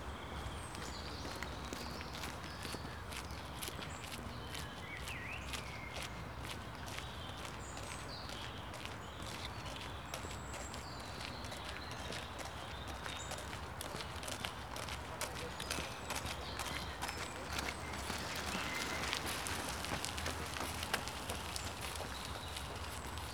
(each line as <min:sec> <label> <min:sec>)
0:00.0 strollers walking here and there on a gravel path 0:23.3
0:00.1 bird activity 0:23.3
0:12.6 bikes passing by 0:23.3